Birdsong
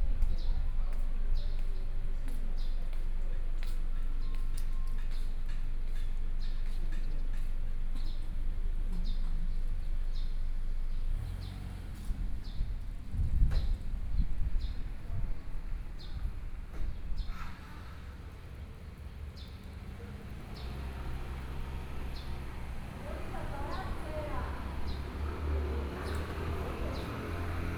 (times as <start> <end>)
15.9 27.7